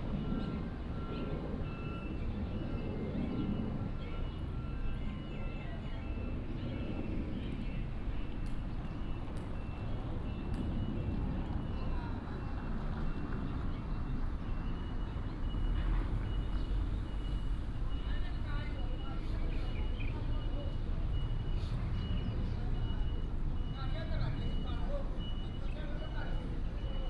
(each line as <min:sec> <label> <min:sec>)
0:00.0 Traffic sound 0:27.0
0:08.0 Taxi driver 0:27.0